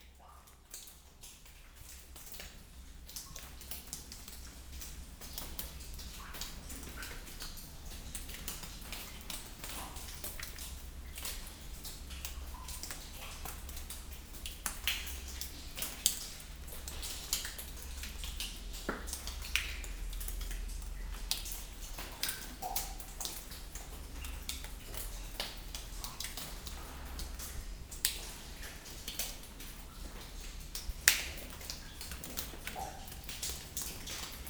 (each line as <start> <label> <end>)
0.0 water falling in the Audun-le-Tiche ventilation shaft 34.4